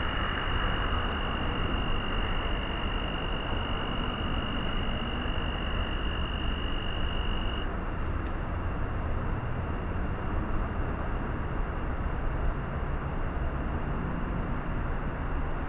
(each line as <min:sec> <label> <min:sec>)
0:00.0 Insects 0:08.0
0:00.0 Road traffic 0:15.6